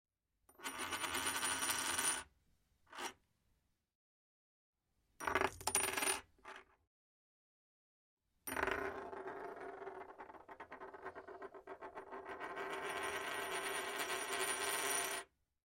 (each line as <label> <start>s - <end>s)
Medium coin spinning on table 0.5s - 2.3s
Medium coin spinning on table 2.9s - 3.2s
Medium coin spinning on table 5.2s - 6.7s
Medium coin spinning on table 8.5s - 15.3s